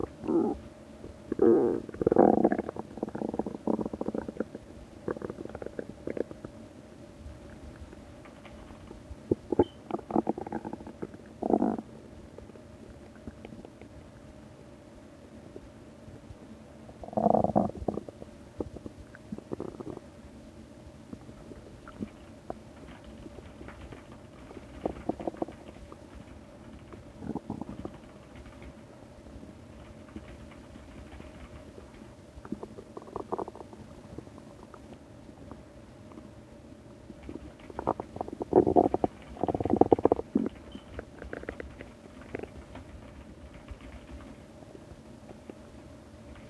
really quiet sound from my mechanical keyboard 7.3 - 11.3
really quiet sound from my mechanical keyboard 21.1 - 36.3
really quiet sound from my mechanical keyboard 37.0 - 46.4

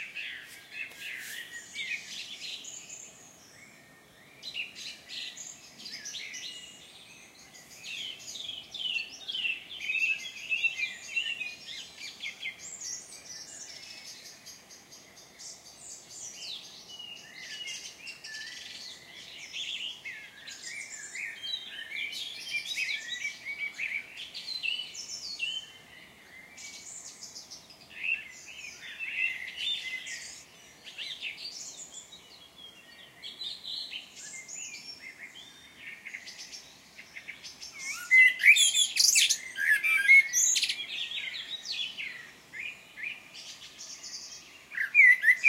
birds singing 0.0 - 45.4

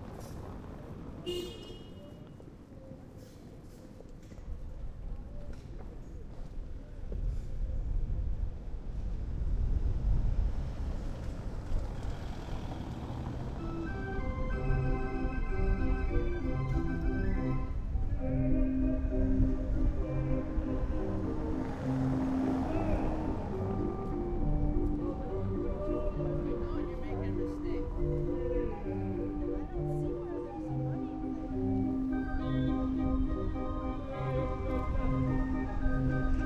street singer 18.0 - 36.4

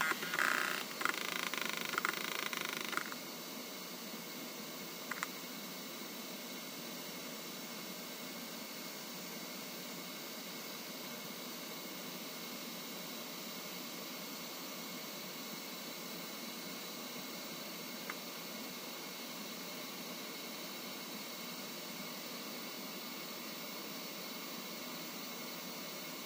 old hard drive starting up 0.0 - 3.2
Vintage Hard Drive Read and Idle 0.0 - 3.3
Vintage Hard Drive Read and Idle 5.0 - 5.5
Vintage Hard Drive Read and Idle 16.5 - 18.9

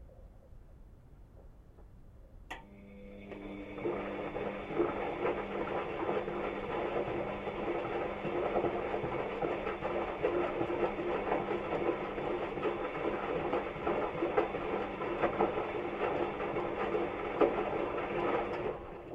Washing machine doing a washing cycle 2.5 - 19.1

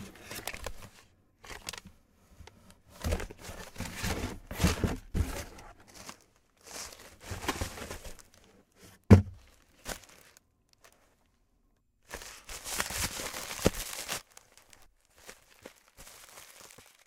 opening a box 0.0 - 10.2
Rustling items around 0.0 - 17.0
Setting items down on a desk 8.9 - 9.5
Pulling out the plastic air pouches 12.0 - 17.0
Ripping the package open 12.0 - 17.0

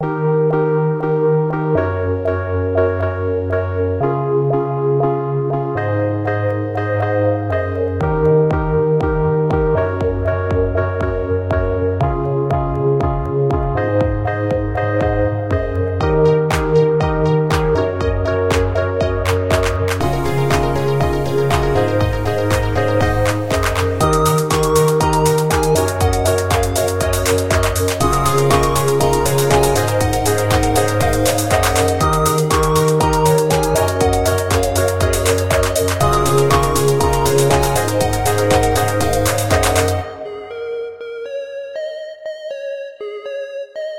robot dance loop 8.0 - 41.0

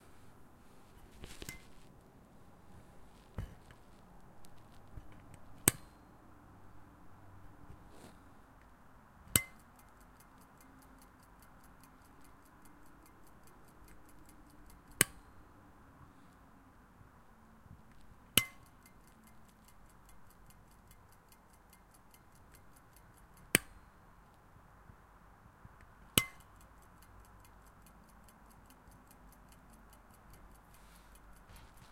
ticking 9.3 - 15.2
ticking 17.9 - 23.8
ticking 25.8 - 31.9

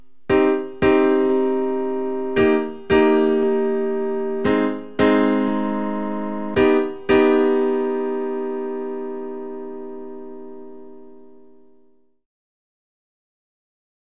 Piano Jazz Chords 0.0 - 12.0

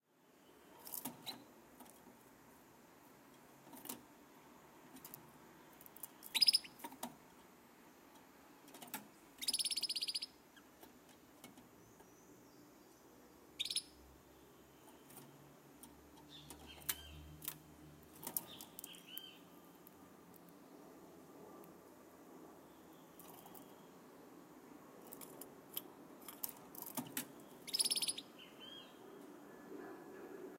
Canary Moving In Cage 0.7 - 2.3
Canary Moving In Cage 3.3 - 4.1
Canary Moving In Cage 4.8 - 7.3
tweet 6.2 - 6.8
Canary Moving In Cage 8.6 - 9.1
tweet 9.4 - 10.4
tweet 13.6 - 14.0
Canary Moving In Cage 14.8 - 19.2
Canary Moving In Cage 23.2 - 23.7
Canary Moving In Cage 25.0 - 27.6
tweet 27.4 - 29.0

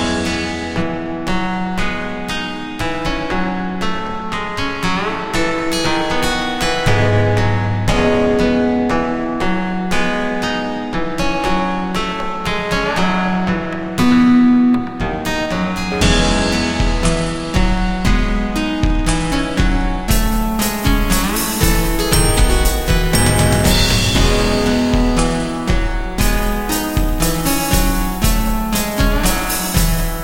Bass 0.0 - 1.9
Drums 0.0 - 30.2
Bass 6.8 - 10.2
Bass 13.5 - 30.2

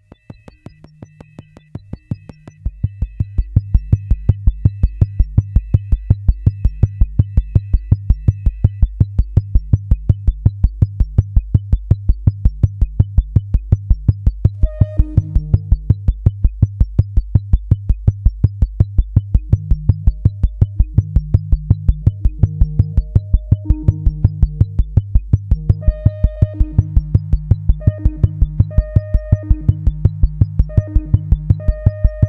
drum loop 0.0 - 32.2
synth 0.0 - 32.2

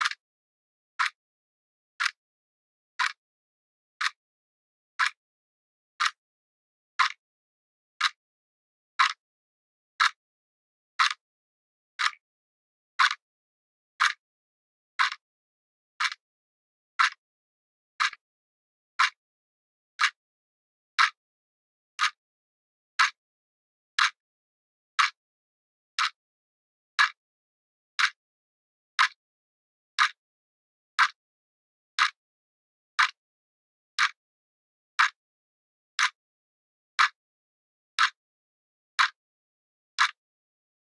clock ticking 7.0 - 7.2
clock ticking 9.0 - 9.2
clock ticking 15.0 - 15.2
clock ticking 17.0 - 17.2
clock ticking 30.0 - 30.2

